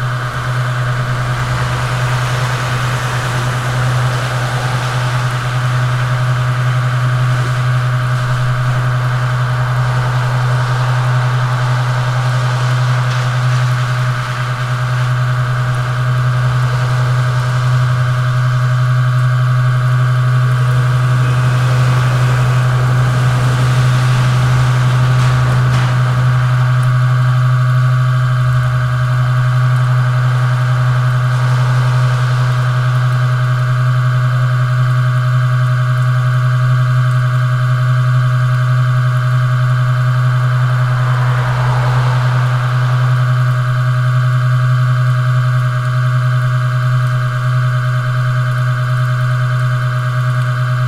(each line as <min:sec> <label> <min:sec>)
0:00.0 Traffic passing by 0:35.1
0:00.0 LED signal board hum 0:50.8
0:38.1 Traffic passing by 0:47.2